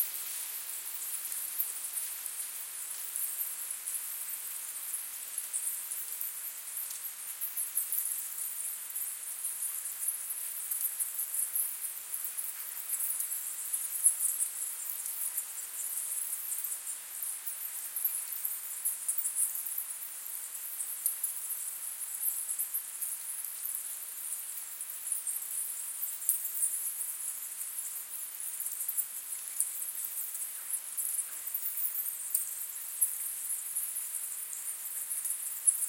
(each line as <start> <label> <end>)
22.2 bats 35.8